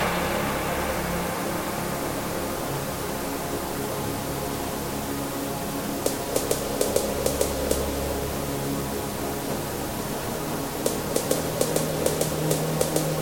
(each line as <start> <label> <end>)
6.1 drum beat snare 7.9
10.9 drum beat snare 13.2